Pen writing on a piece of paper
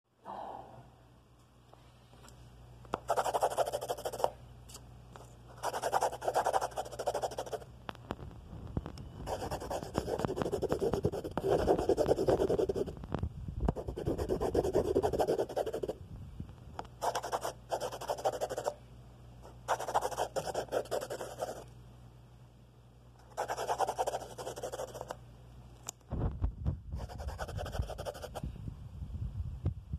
3.1s 4.3s, 5.5s 7.6s, 9.2s 13.0s, 13.8s 16.0s, 17.0s 18.8s, 19.7s 21.6s, 23.3s 25.1s, 27.0s 28.4s

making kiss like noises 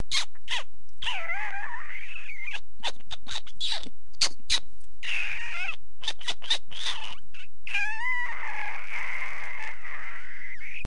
0.0s 7.8s

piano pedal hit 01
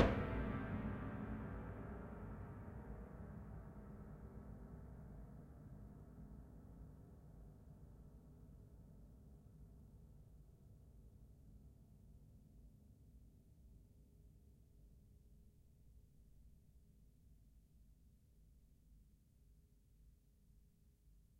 0.0s 0.7s

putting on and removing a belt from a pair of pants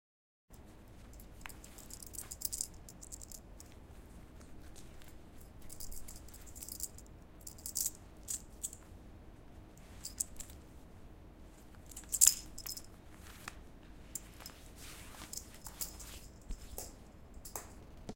14.2s 17.0s

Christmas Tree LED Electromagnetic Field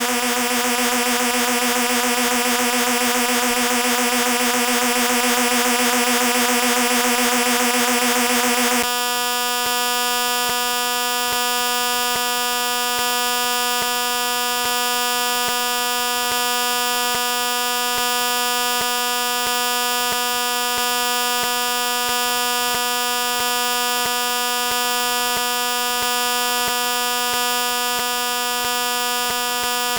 0.0s 8.9s

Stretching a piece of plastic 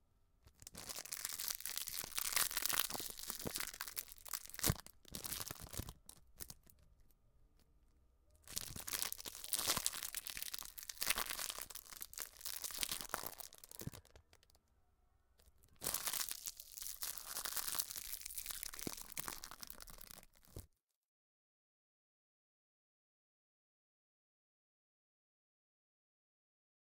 0.4s 7.7s, 8.4s 14.6s, 15.4s 20.7s

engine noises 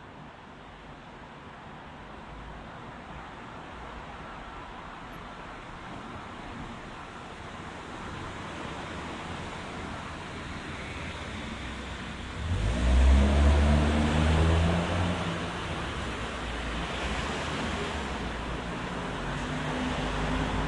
9.3s 20.6s

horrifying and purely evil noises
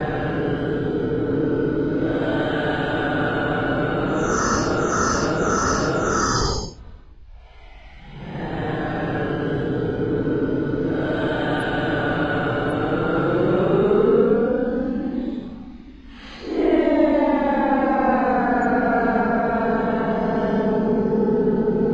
0.6s 6.9s

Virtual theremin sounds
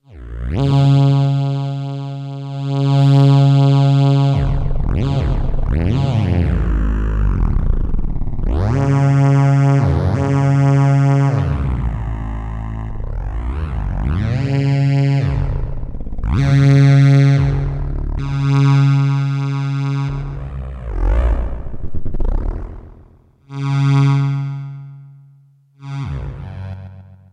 19.9s 23.2s

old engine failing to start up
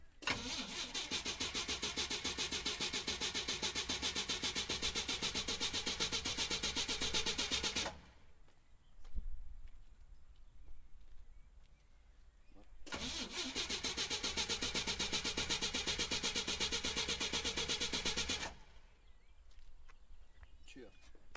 0.2s 8.1s, 12.9s 18.8s

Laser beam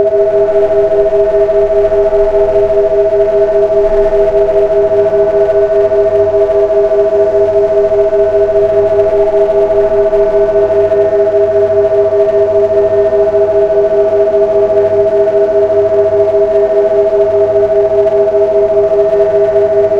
0.0s 15.1s

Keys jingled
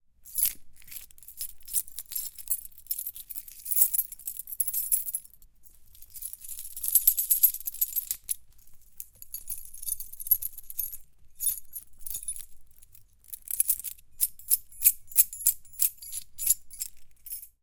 0.3s 5.3s, 9.1s 12.5s, 13.4s 17.6s

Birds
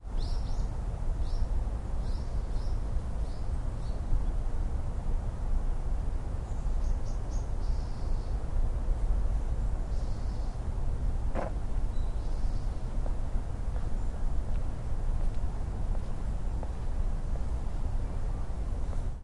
0.0s 4.4s, 9.9s 10.6s, 11.4s 13.0s

